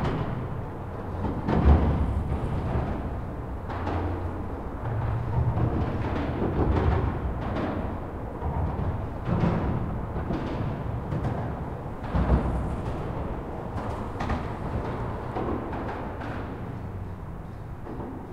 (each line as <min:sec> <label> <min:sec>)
0:00.0 roar of a bridge, when the cars drive over the bridge 0:18.3